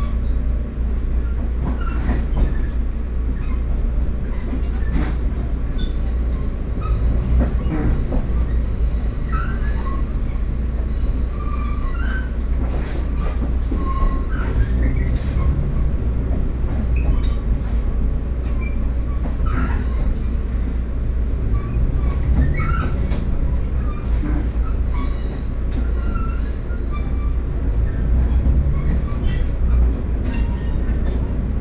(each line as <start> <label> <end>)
0.0 train 31.6